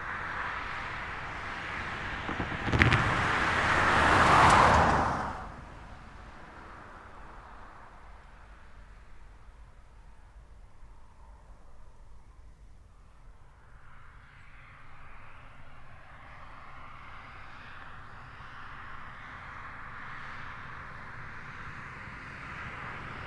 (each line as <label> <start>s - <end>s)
Cars, trucks crossing train rails at speed 0.0s - 8.3s